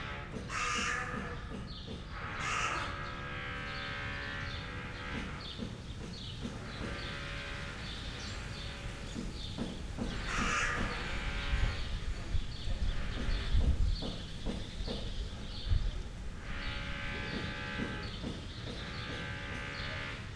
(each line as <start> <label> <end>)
0.3 dun crow 5.3
10.0 dun crow 11.8